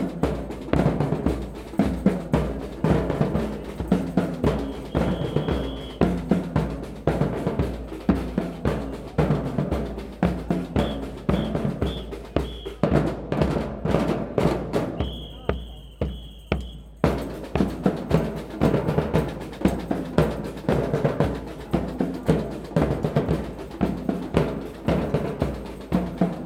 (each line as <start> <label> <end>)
0.0 Gay pride parade passes through the city 26.4
0.0 drums 26.4
4.4 whistles 6.3
10.6 whistles 12.9
14.8 whistles 17.0